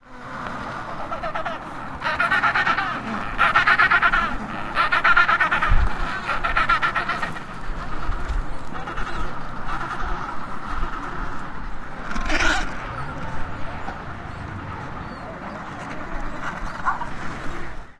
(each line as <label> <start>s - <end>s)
penguin Colony 1.0s - 7.4s